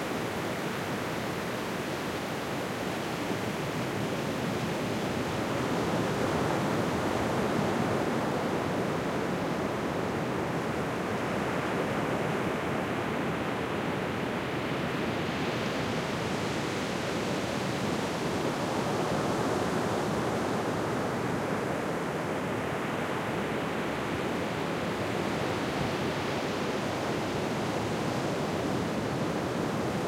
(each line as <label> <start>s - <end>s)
Small waves in the foreground, larger ones off 0.0s - 30.0s